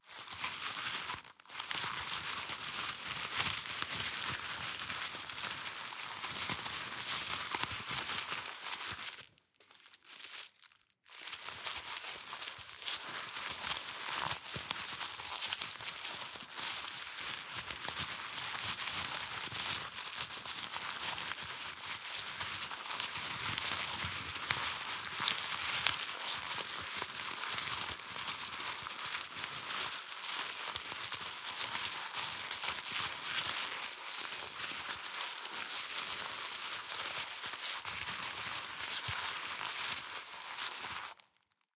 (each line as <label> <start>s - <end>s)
paper crumple 0.1s - 41.7s